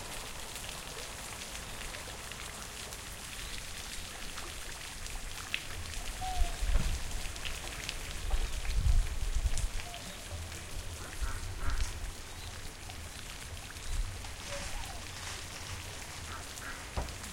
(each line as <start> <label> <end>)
9.8 ducks 12.2
14.4 ducks 17.3